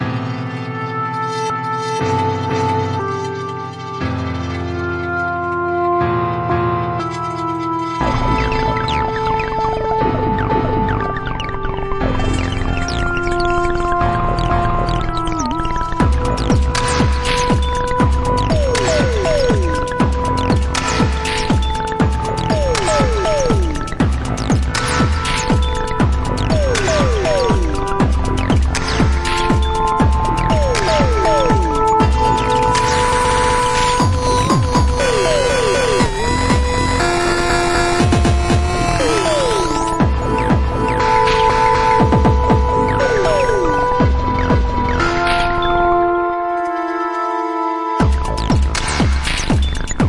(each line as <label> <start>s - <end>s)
Synthesizer 0.0s - 50.0s
Beat 14.1s - 45.8s
Beat 48.0s - 50.0s